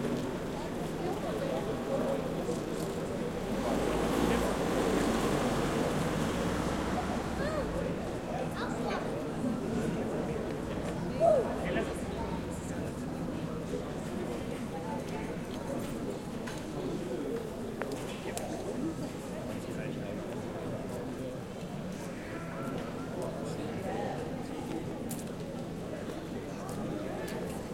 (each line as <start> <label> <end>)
0.0 people 27.7